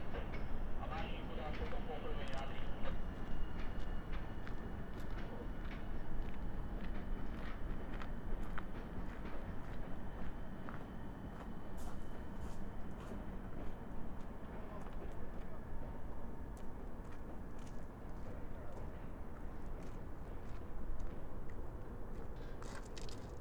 0.0s train stops, honks the horn and pushes the carriages back 22.9s
0.8s commands via station loudspeaker 3.0s

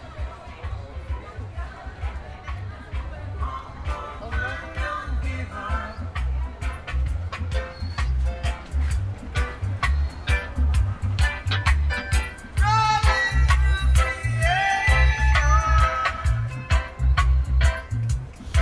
3.9s each sailesman testing a different cd 18.6s

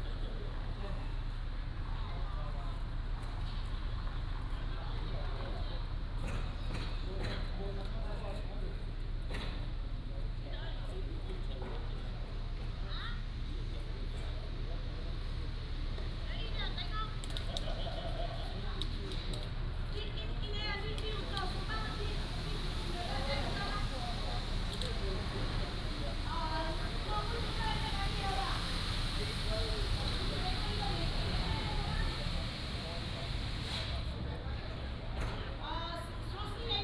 11.7s Traffic Sound 36.8s

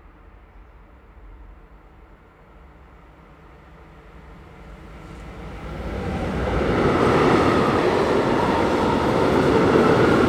3.1s Several trains passing 10.2s

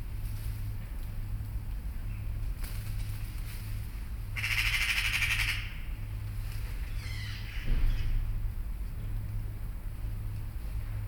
4.4s magpies 5.7s

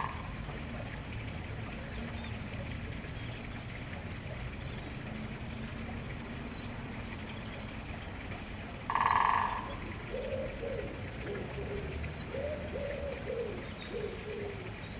0.0s running water sound is a neighbour's water feature 14.9s
8.9s Woodpecker drumming 10.2s

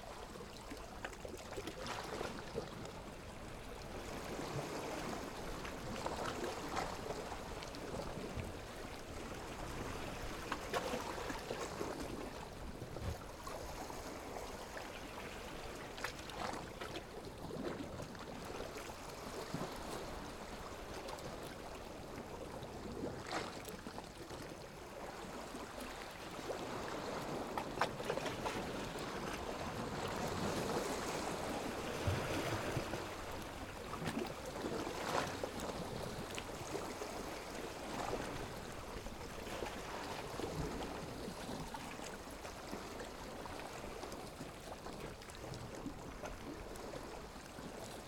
0.0s quiet water 48.0s

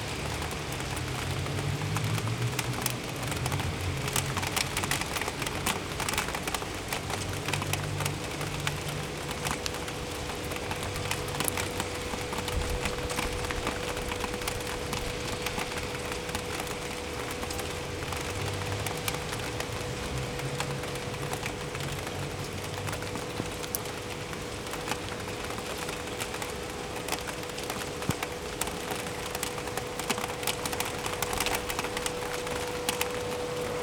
0.0s rain 33.8s

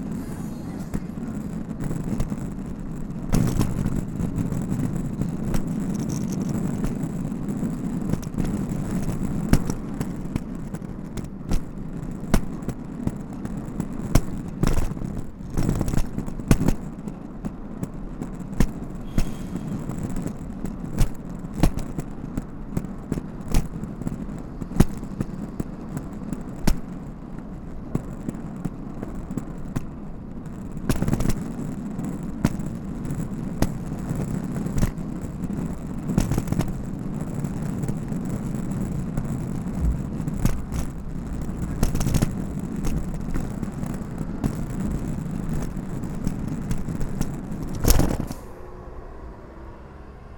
39.5s Luggage Bag Drag 45.8s

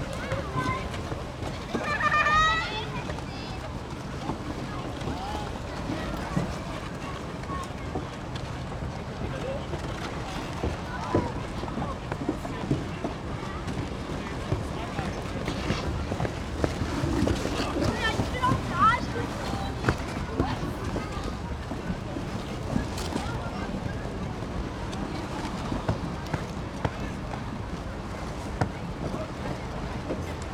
10.5s ice skating 24.0s

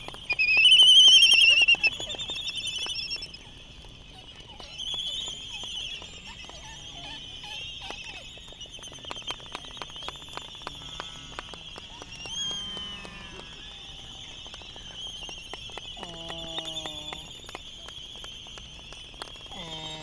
0.0s voices 20.0s

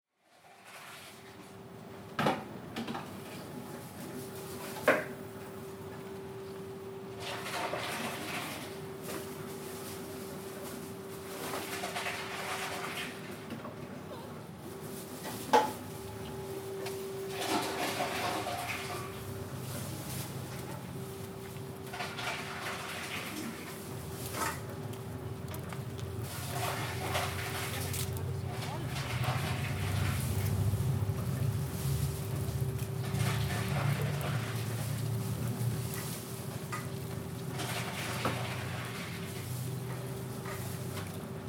17.2s Recycling sounds 39.8s

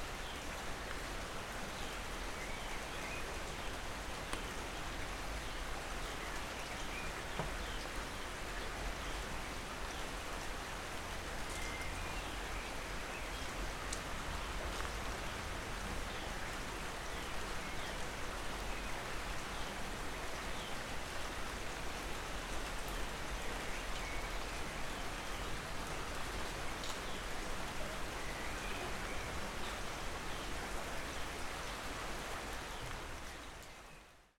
0.0s rain 34.3s

